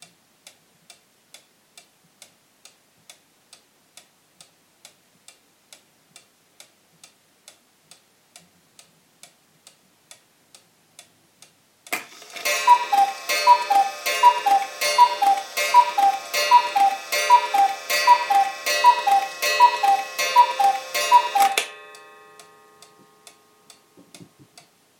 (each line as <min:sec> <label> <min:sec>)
0:11.9 ticking and striking of the cuckoo clock 0:24.7